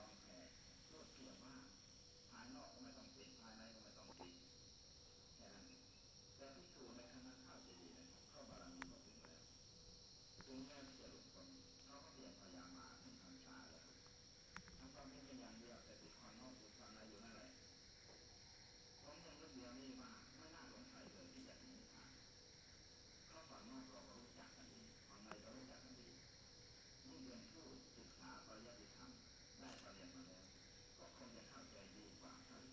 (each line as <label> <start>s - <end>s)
radio 0.0s - 1.7s
radio 2.4s - 4.4s
radio 6.4s - 9.4s
radio 10.4s - 13.9s
radio 19.0s - 22.2s
radio 23.3s - 26.2s
radio 27.1s - 32.7s